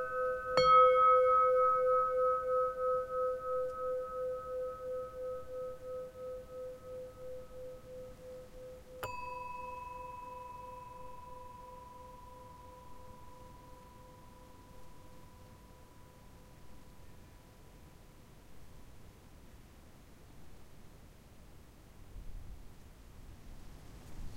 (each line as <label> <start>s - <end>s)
Bells Windchime 0.0s - 16.6s
wind rustling the leaves of a blueberry bush 22.0s - 24.3s